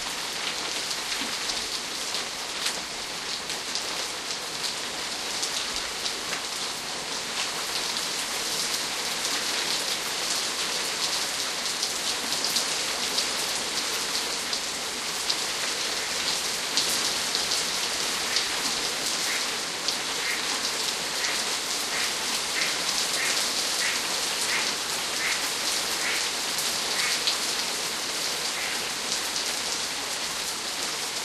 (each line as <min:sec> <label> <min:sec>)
0:00.0 gradual build up rain 0:31.2